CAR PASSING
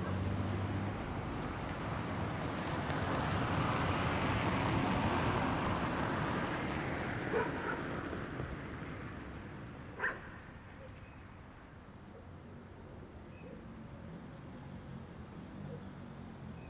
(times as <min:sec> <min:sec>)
0:00.0 0:10.2